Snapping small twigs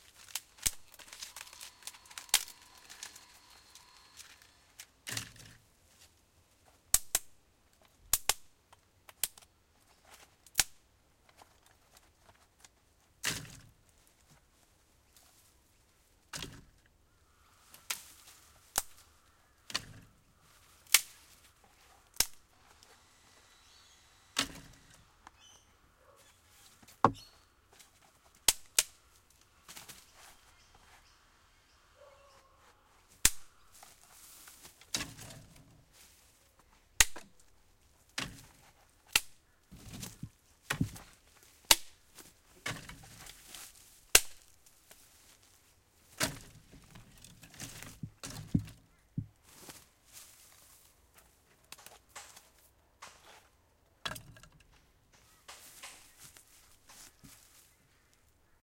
0.0s 5.6s, 6.9s 7.4s, 8.1s 9.5s, 10.4s 11.4s, 17.7s 22.8s, 24.3s 25.4s, 28.3s 30.4s, 33.1s 35.7s, 37.0s 45.0s, 46.1s 48.8s, 54.1s 58.2s

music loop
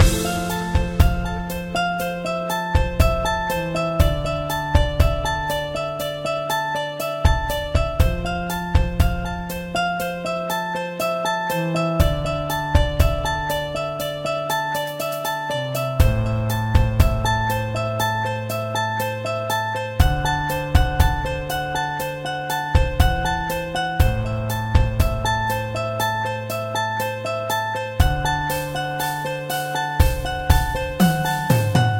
0.0s 10.3s, 28.0s 31.9s

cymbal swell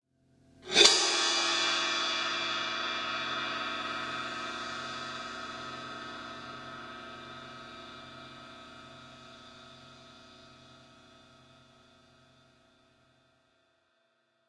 0.7s 9.6s

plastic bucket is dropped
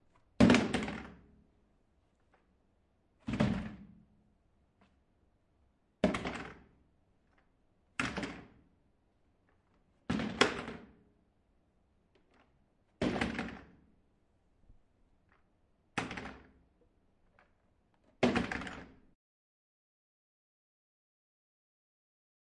0.4s 1.2s, 3.2s 4.0s, 10.1s 10.9s, 18.2s 19.0s

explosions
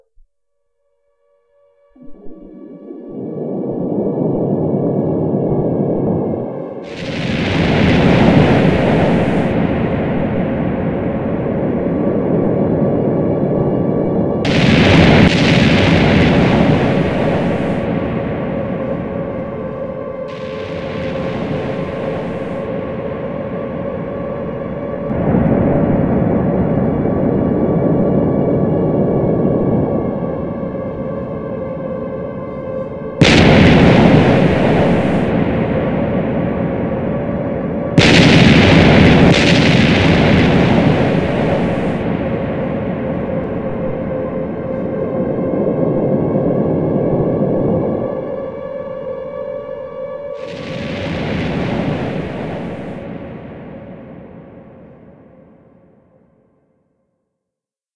6.8s 11.8s, 14.4s 23.6s, 33.2s 44.7s, 50.4s 55.1s

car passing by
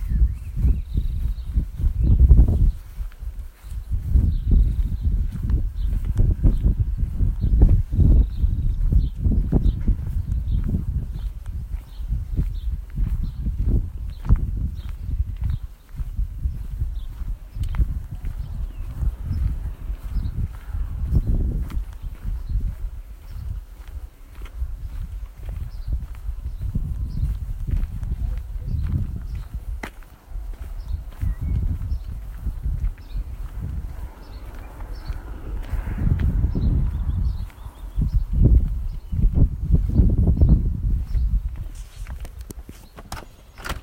33.3s 38.0s

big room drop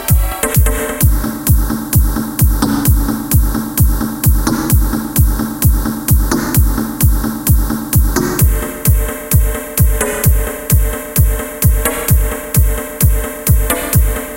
0.0s 10.9s

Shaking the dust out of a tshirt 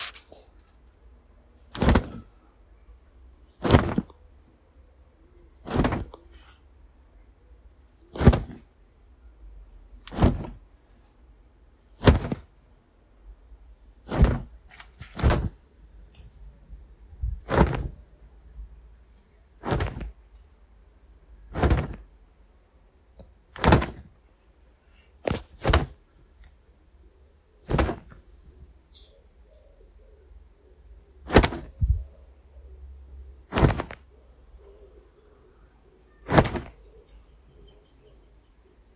10.1s 10.6s, 14.0s 15.6s, 19.6s 20.2s, 21.5s 22.0s, 33.5s 34.0s, 36.3s 36.8s

